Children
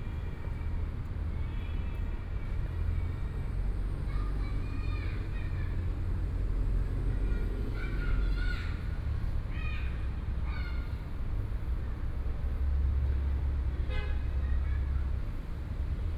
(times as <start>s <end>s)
1.4s 11.0s